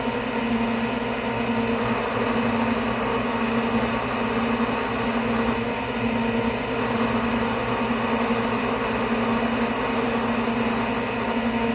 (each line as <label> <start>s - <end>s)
6 SAS HDD's copying data 1.6s - 5.7s
6 SAS HDD's copying data 6.7s - 11.6s